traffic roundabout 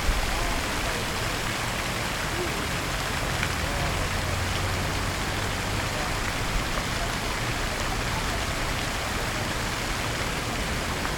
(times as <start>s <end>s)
2.8s 11.1s